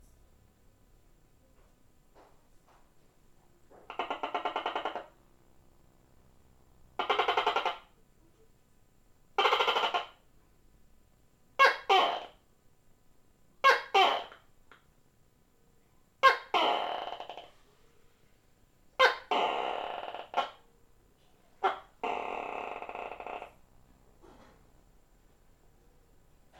Tokae lizard 0:03.9 - 0:05.2
Tokae lizard 0:07.0 - 0:07.8
Tokae lizard 0:09.4 - 0:10.2

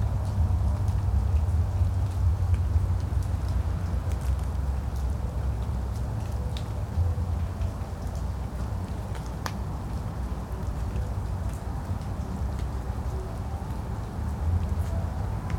water dripping from the trees 0:00.0 - 0:15.5
music from a distant concert 0:02.8 - 0:15.5

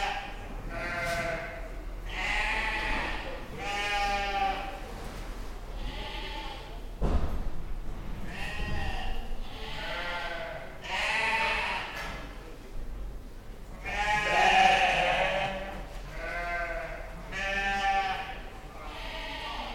Sheep baaing 0:00.0 - 0:04.7
Sheep baaing 0:08.3 - 0:12.0
Sheep baaing 0:13.8 - 0:19.7

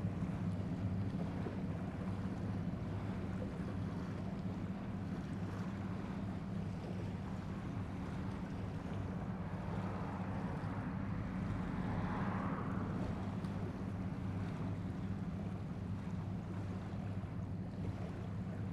boat noise 0:00.0 - 0:18.7

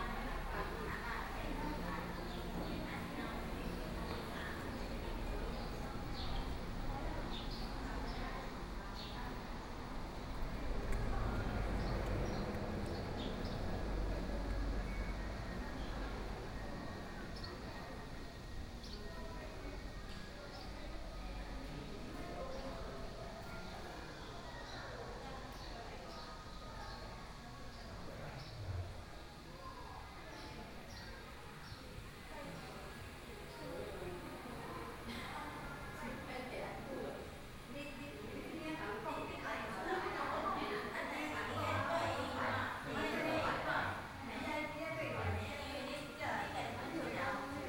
walking in the temple 0:00.0 - 0:47.6
Birdsong sound 0:30.3 - 0:32.1

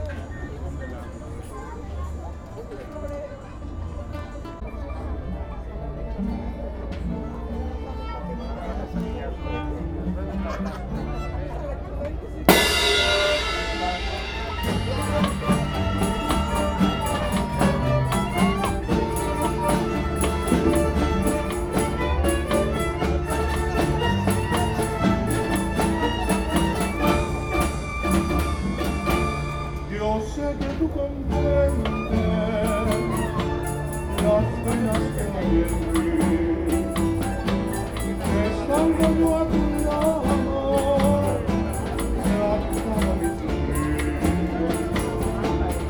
playing some songs 0:12.4 - 0:45.8

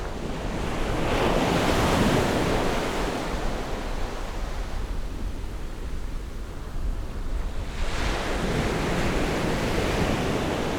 waves 0:07.4 - 0:10.7

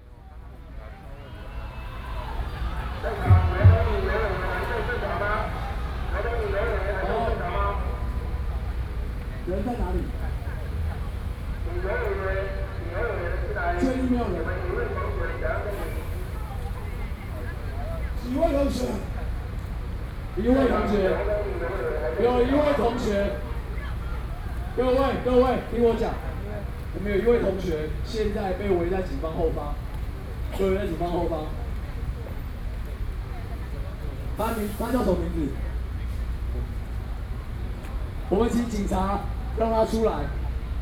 Students' protests 0:01.1 - 0:19.3

